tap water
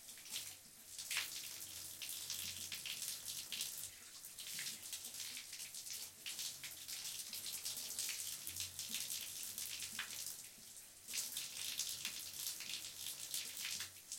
0:04.4 0:14.1

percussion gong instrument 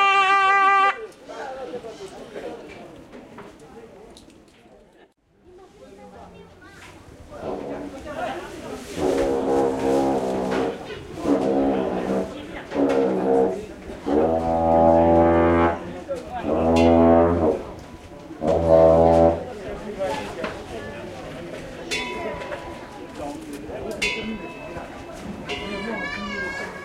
0:16.5 0:17.6, 0:21.8 0:23.2, 0:24.0 0:26.4

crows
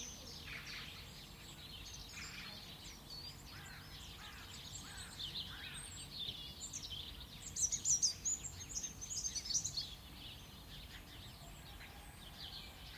0:03.5 0:05.8

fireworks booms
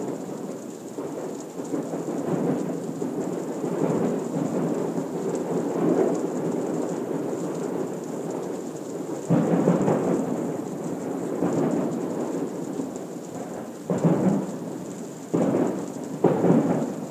0:15.3 0:17.1

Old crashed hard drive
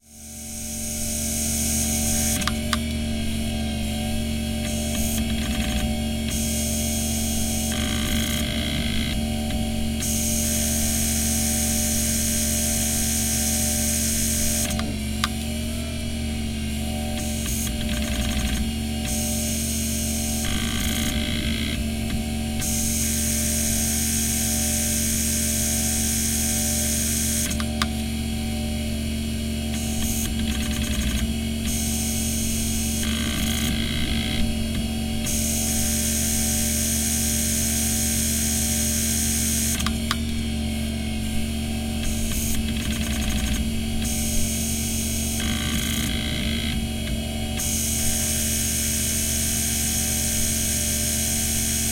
0:01.0 0:10.1, 0:29.7 0:38.8

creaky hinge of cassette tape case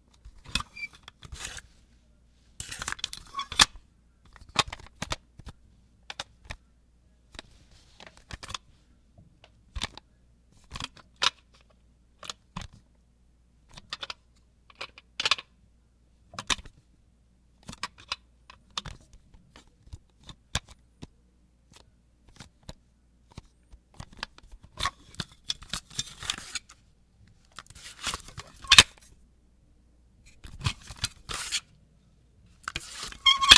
0:33.1 0:33.5

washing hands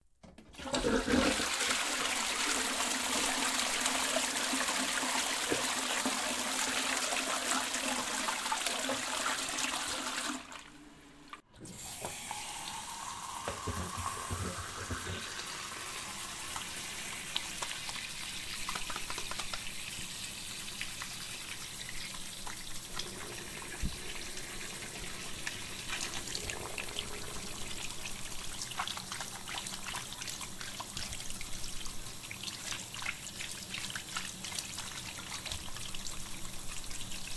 0:11.7 0:37.3

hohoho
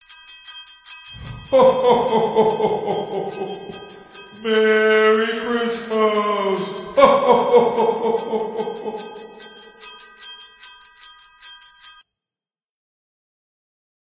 0:01.2 0:10.2

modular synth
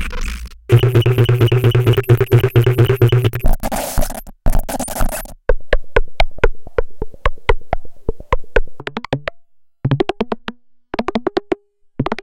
0:00.0 0:03.5

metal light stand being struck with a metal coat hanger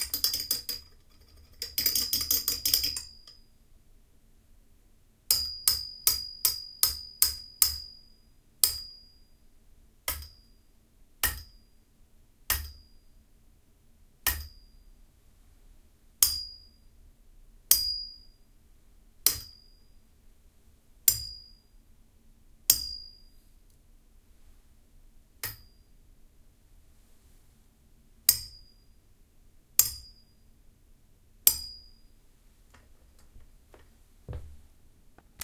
0:14.2 0:14.6, 0:21.1 0:21.5, 0:22.7 0:23.2, 0:25.4 0:25.8, 0:28.3 0:28.7, 0:29.8 0:30.2, 0:31.4 0:31.9

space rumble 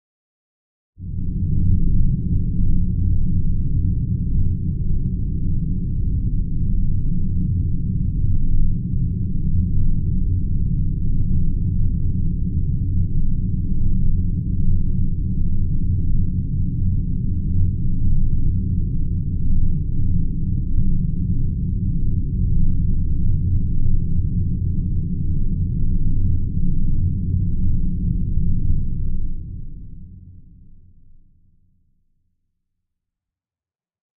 0:18.8 0:30.7

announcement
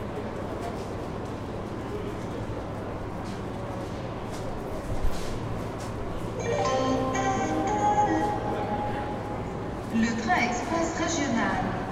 0:06.4 0:11.9

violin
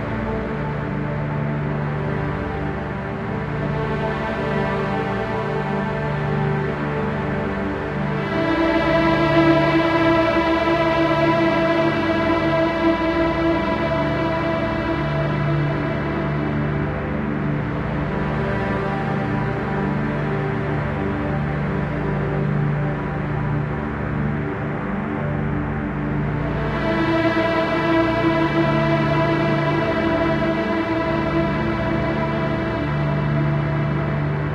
0:00.0 0:25.0

